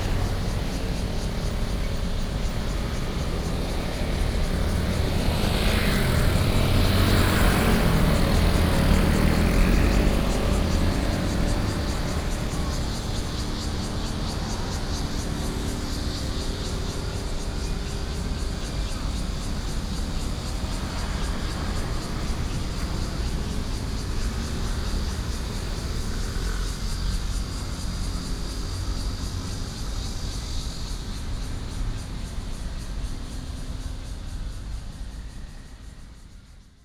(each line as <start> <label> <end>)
0.0 Traffic Sound 36.6
0.0 Cicadas cry 36.8